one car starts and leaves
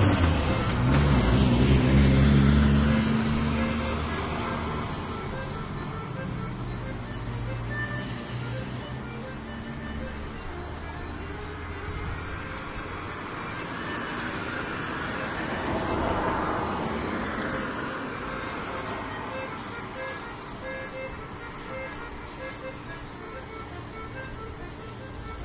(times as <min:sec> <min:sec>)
0:00.0 0:05.2